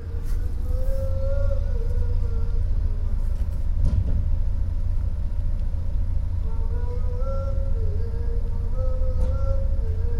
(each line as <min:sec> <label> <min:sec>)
0:00.0 taxi waiting on street then drives off 0:10.1
0:06.5 Two men singing 0:10.1